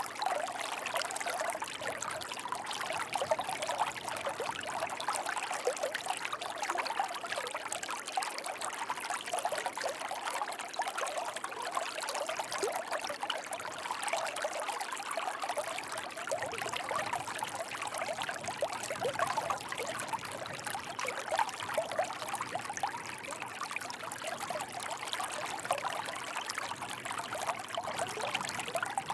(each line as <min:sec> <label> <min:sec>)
0:25.0 Channel on the beach 0:29.1